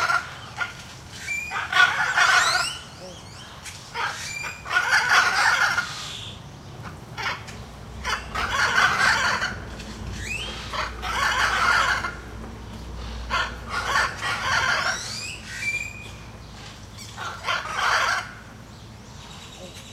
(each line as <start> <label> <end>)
0.0 Calls from a pair of Hyacinth Macaws 19.9
0.0 other birds in the background 19.9